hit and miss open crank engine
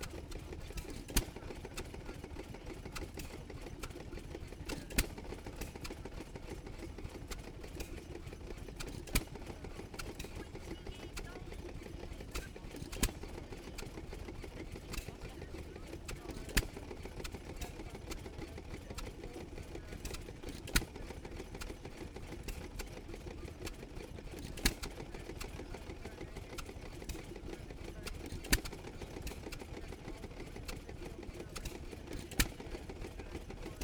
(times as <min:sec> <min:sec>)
0:13.9 0:33.8